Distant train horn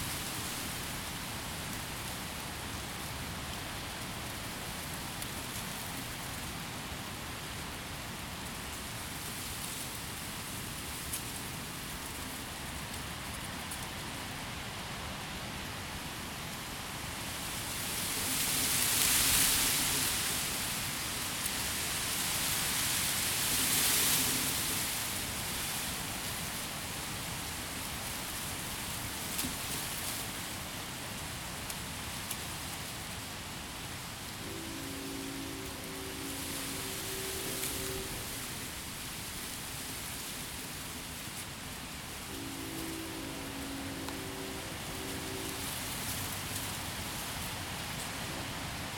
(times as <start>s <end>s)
34.2s 40.2s, 42.1s 48.8s